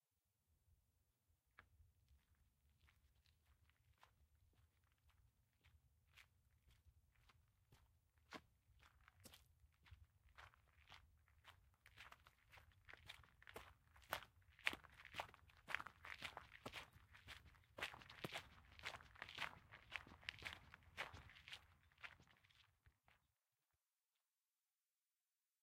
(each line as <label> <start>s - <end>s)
Single person walking on gravel surface 11.9s - 23.2s